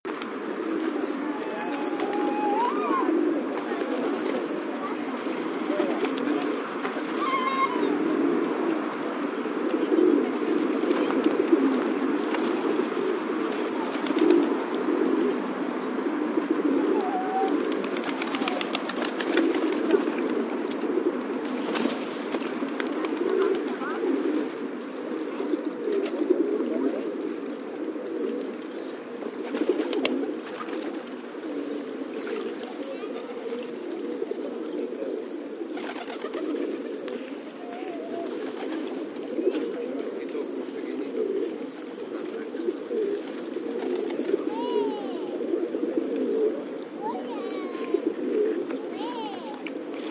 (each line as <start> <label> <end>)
0.1 Pigeons feeding and flying 50.1
1.0 human voices of kids and adults 8.6
32.4 human voices of kids and adults 35.2
37.3 human voices of kids and adults 38.8
44.2 human voices of kids and adults 45.9
46.6 human voices of kids and adults 50.1